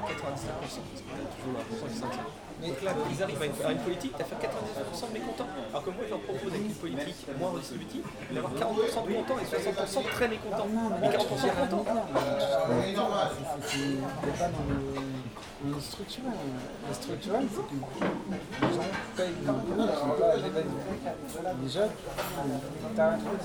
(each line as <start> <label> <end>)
0.0 hubbub of the clients 23.4
0.0 two people talking 23.4